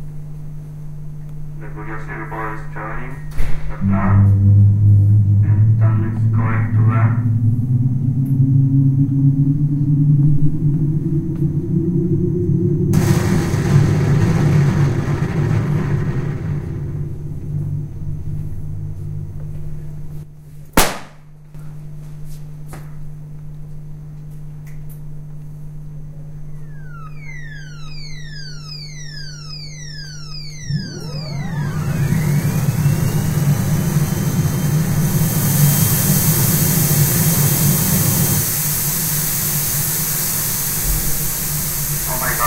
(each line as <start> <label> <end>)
26.5 Alarm sound indicating the activity of the motor 42.4
26.5 Deceleration motor sounds 42.4
26.5 Use of the laser 42.4
26.5 Alarm sound indicating robotic movement 37.2
41.8 Alarm sound indicating robotic movement 42.4